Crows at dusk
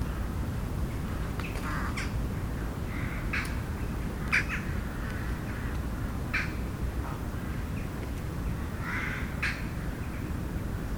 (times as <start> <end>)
1.1 7.7, 8.6 10.3